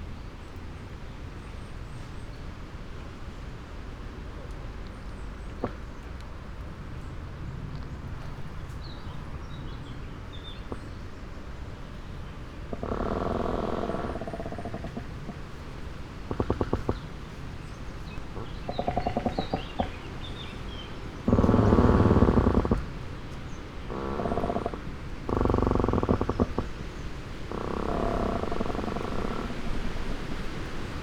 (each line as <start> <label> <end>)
3.6 may winds 31.0
5.4 trees creak 6.1
10.4 trees creak 31.0